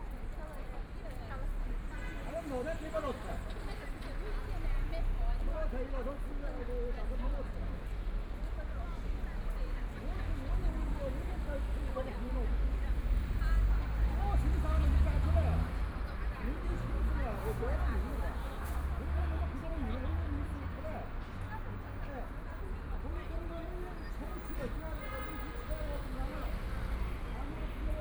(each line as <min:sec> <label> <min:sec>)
0:00.0 Traffic Sound 0:28.0
0:00.0 crowd at the intersection 0:28.0